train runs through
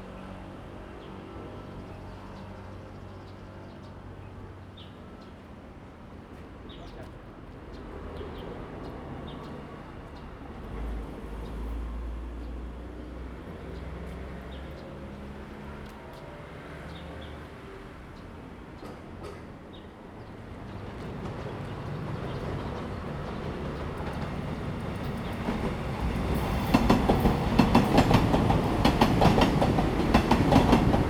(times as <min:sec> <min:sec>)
0:07.0 0:31.0